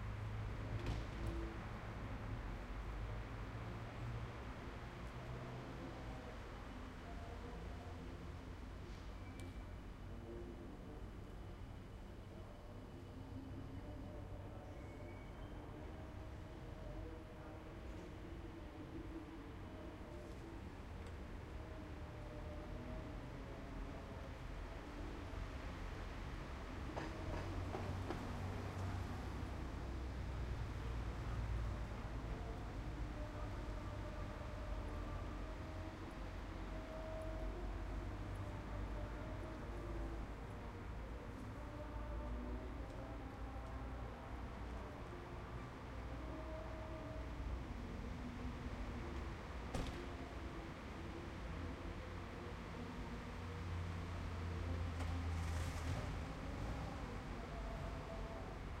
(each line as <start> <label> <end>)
0.0 train in distance 58.8
0.0 street 58.8